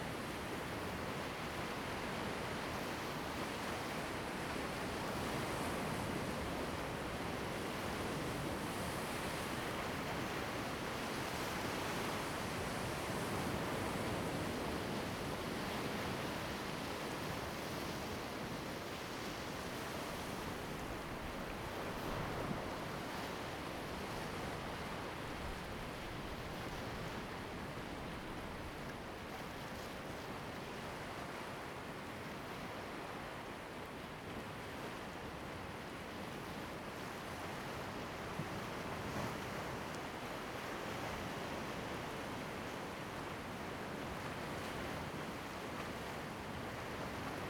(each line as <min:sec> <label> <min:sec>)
0:00.0 waves 0:47.4